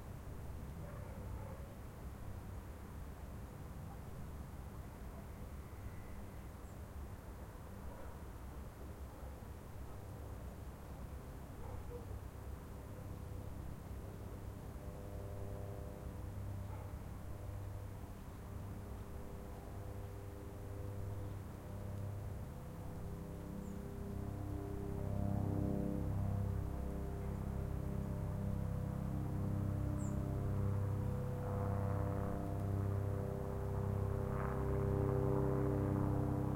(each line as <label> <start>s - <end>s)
dog 0.8s - 1.7s
dog 7.9s - 8.2s
Helicopter flyover 11.0s - 36.5s
dog 11.6s - 12.1s
dog 16.7s - 17.0s